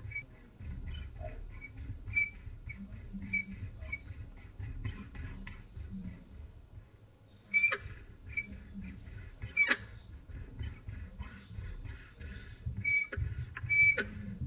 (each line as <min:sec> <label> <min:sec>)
0:00.8 squeaks from a wooden cabinet door 0:04.1
0:07.5 squeaks from a wooden cabinet door 0:08.5
0:09.6 squeaks from a wooden cabinet door 0:09.8
0:12.8 squeaks from a wooden cabinet door 0:14.1